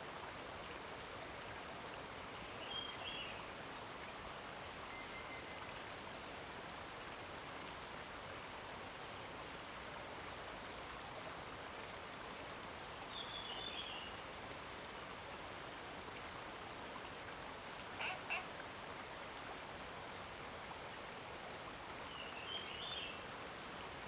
Streams 0:17.9 - 0:18.7
birds 0:18.0 - 0:18.5
birds 0:22.1 - 0:23.3

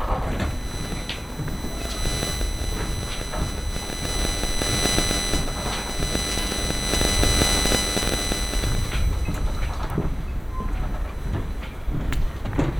RF interferences 0:00.0 - 0:12.7

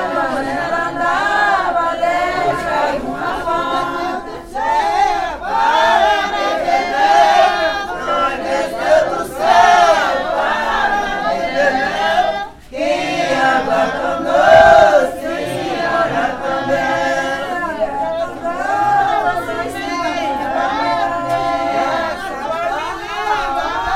reza do povo 0:00.0 - 0:23.9

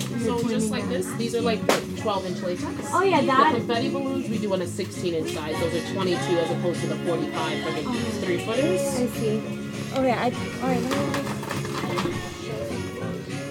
music playing in the background 0:00.0 - 0:13.5
customer is trying to buy a specific kind of balloons 0:10.0 - 0:12.7

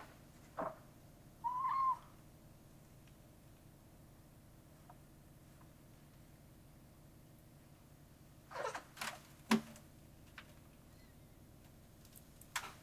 two crows 0:01.4 - 0:02.2

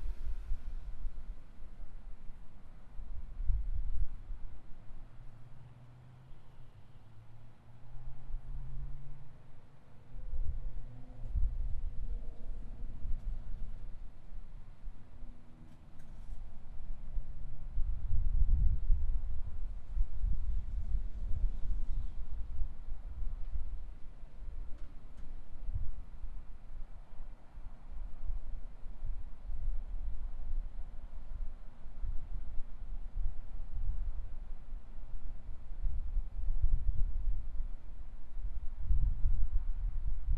cars passing on the freeway 0:00.0 - 0:36.7
wind 0:00.0 - 0:40.3

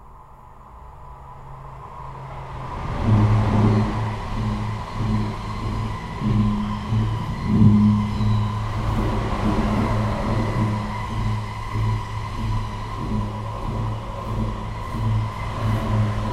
passage d'un train 0:00.0 - 0:16.3
chantant 0:02.7 - 0:16.3

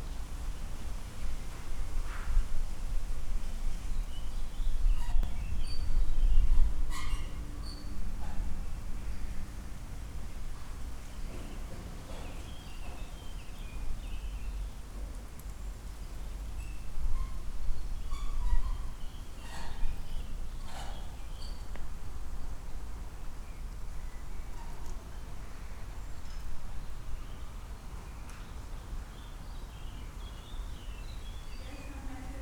people inside the building 0:00.3 - 0:32.4

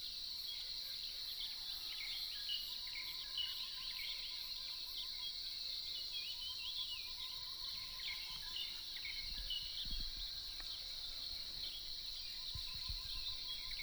Insects sounds 0:04.4 - 0:13.8

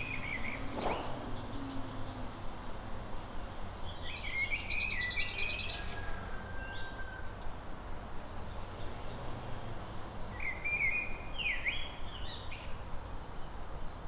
people working in the distance 0:00.0 - 0:02.0
one car passing by 0:00.0 - 0:03.1
Birds 0:00.0 - 0:07.5
distant traffic 0:00.0 - 0:14.0

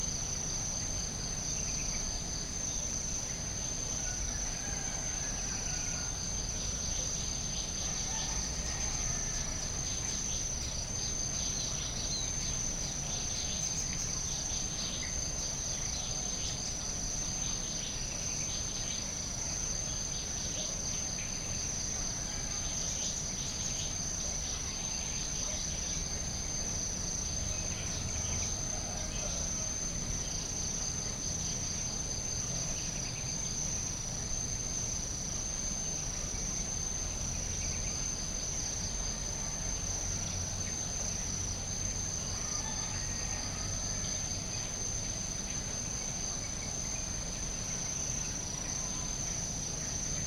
Balinese Tree Frogs 0:00.0 - 0:50.2

